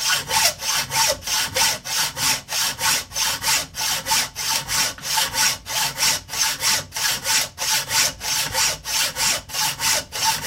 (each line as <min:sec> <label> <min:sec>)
0:00.0 cutting a piece of mild steel with a hacksaw 0:10.4